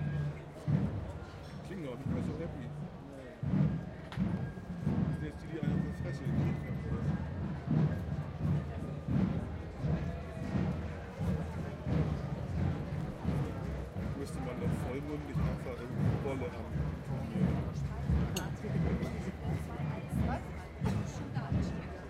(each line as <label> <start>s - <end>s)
marching band passes over 0.0s - 22.0s
voices of people in cafe 0.0s - 22.0s